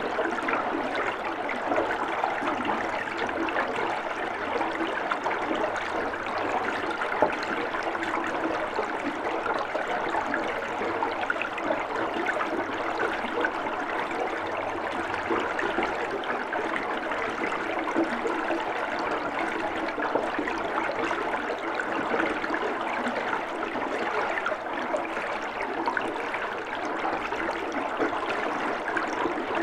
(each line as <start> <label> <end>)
0.0 Water flowing in a tube 29.6
0.0 pump 29.6